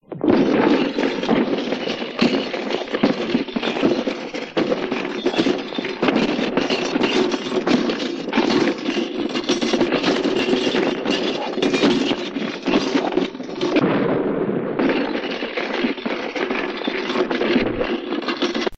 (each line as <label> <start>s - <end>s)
Breaking done with parts taken from broken radios 0.0s - 14.1s
explosion at end 13.8s - 15.0s
Breaking done with parts taken from broken radios 14.7s - 18.7s